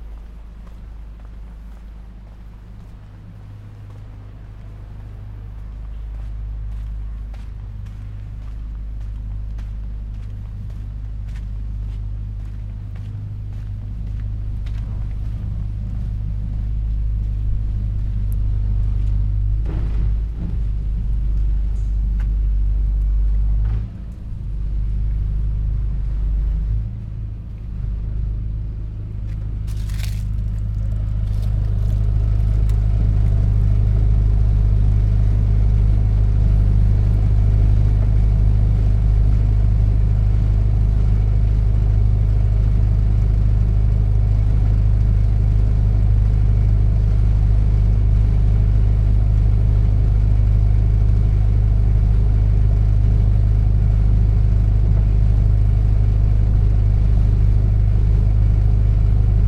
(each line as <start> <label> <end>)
0.0 short walk 22.7
0.0 low drones of a construction works generator 59.4
29.2 short walk 34.0